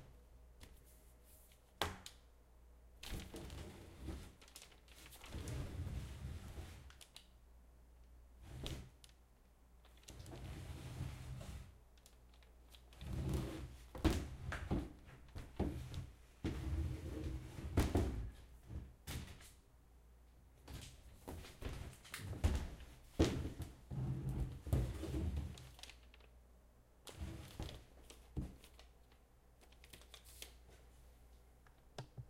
Shuffling a framed movie poster around 0:03.0 - 0:07.0
Shuffling a framed movie poster around 0:27.1 - 0:31.5

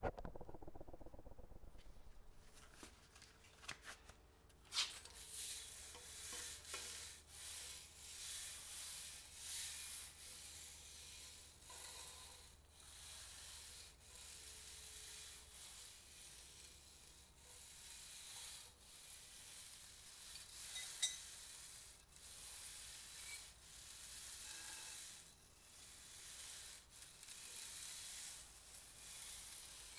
Plastic and metal shuffled on concrete floor 0:00.0 - 0:05.7

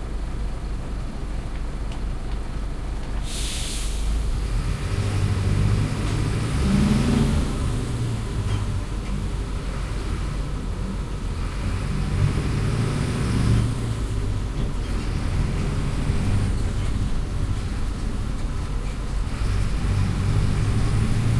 bus 0:00.0 - 0:21.3

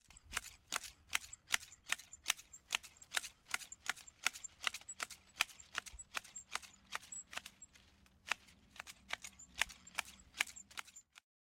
Cutting bedding edges with garden shears 0:00.0 - 0:11.2

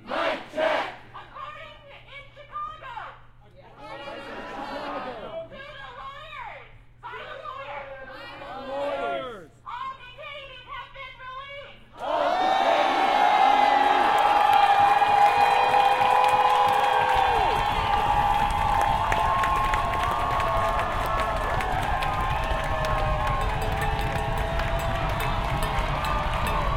medley of chants 0:00.0 - 0:01.0
medley of chants 0:19.6 - 0:26.7

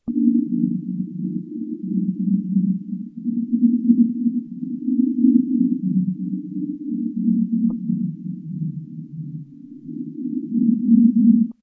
addsynth stereo flange 0:00.0 - 0:11.6

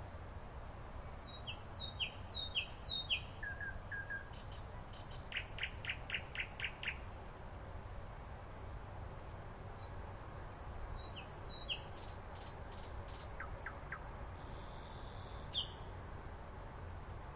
distant traffic 0:00.0 - 0:17.3
Nightingale 0:10.9 - 0:15.8

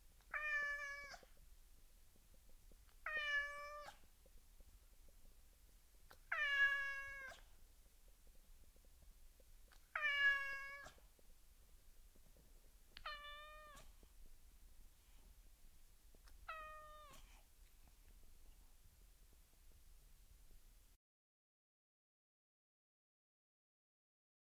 Cat Meow 0:00.3 - 0:01.3
Cat Meow 0:03.0 - 0:04.0
Cat Meow 0:06.3 - 0:07.4
Cat Meow 0:09.9 - 0:11.0
Cat Meow 0:13.0 - 0:13.9
Cat Meow 0:16.4 - 0:17.2

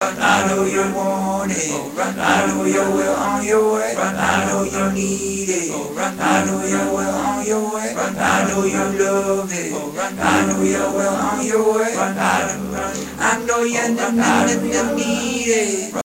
Vocals 0:00.0 - 0:16.0

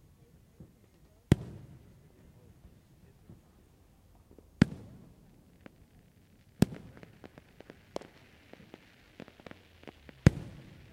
Fireworks 0:00.0 - 0:10.9

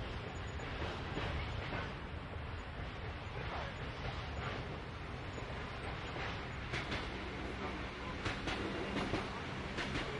passing by trains 0:00.0 - 0:10.1

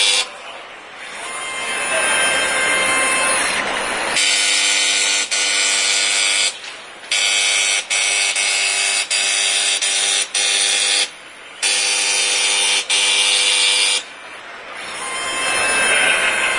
crowd 0:00.0 - 0:04.6
masonry machine 0:00.0 - 0:16.5
crowd 0:14.0 - 0:16.5

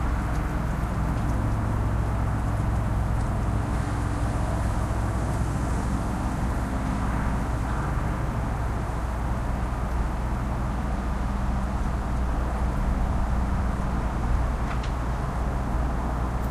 other suburban sounds 0:00.0 - 0:16.5

